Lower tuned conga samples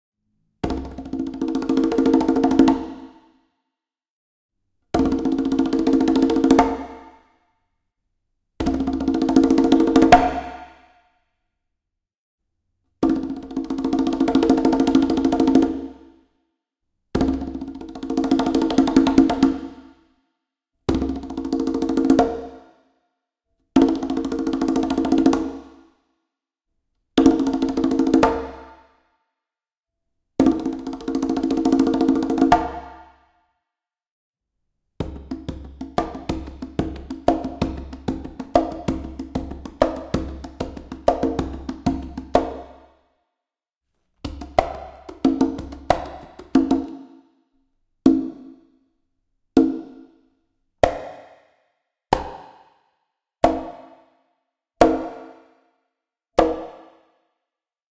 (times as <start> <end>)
35.1 42.7, 44.3 46.9